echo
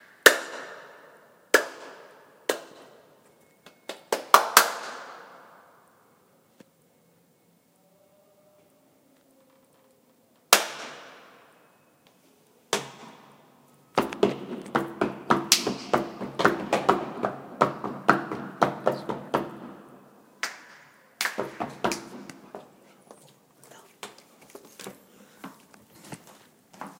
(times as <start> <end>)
0.0 7.0, 10.5 22.9